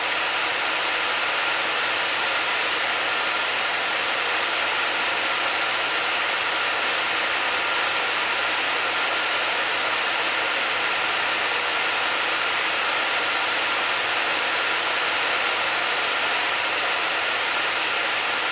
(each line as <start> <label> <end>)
0.0 fan blowing 18.5